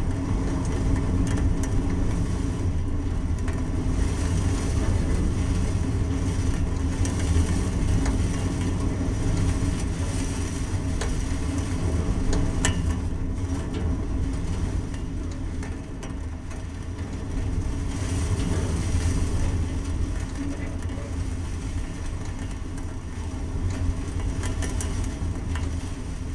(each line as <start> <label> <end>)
0.0 rain 26.3